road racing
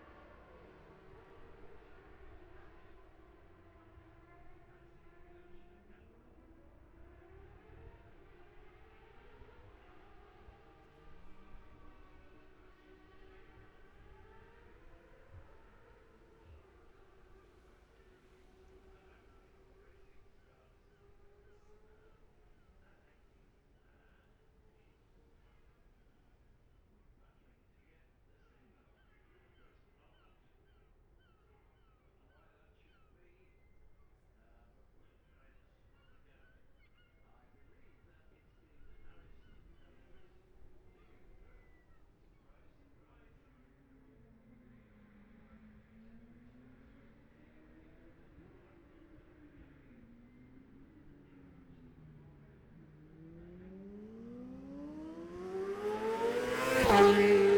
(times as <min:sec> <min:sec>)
0:00.0 0:22.6, 0:38.7 0:57.5